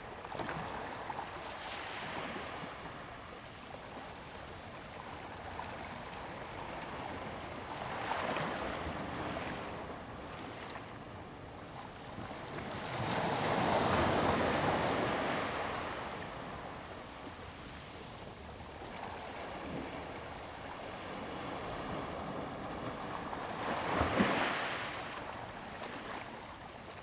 waves 0:13.0 - 0:27.0

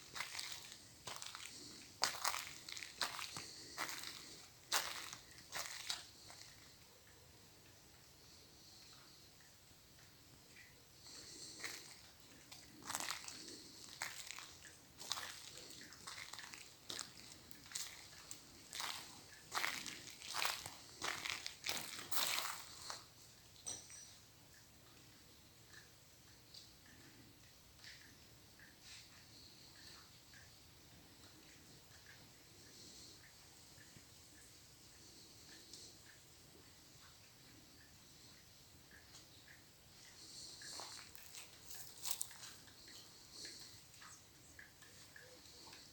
Walking inside 0:00.0 - 0:23.4
light rain 0:00.0 - 0:23.7
Walking inside 0:24.9 - 0:45.9

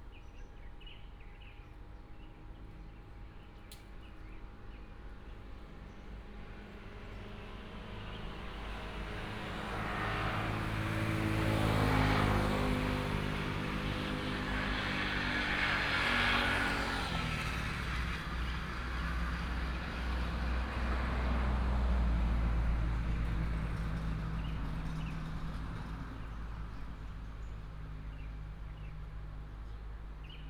Helicopter 0:04.0 - 0:30.3
Traffic sound 0:05.5 - 0:30.4

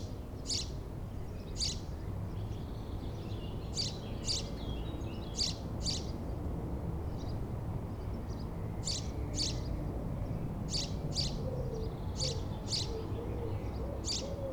birds 0:08.0 - 0:14.5

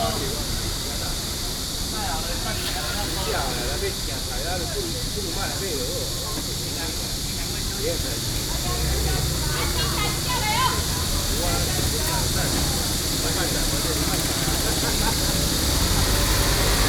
Cicada sounds 0:00.0 - 0:16.8
Traffic Sound 0:00.0 - 0:16.8

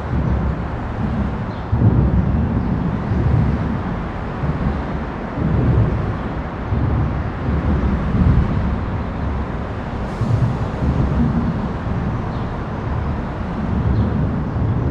traffic overhead 0:00.0 - 0:14.9
birds singing 0:12.2 - 0:14.8

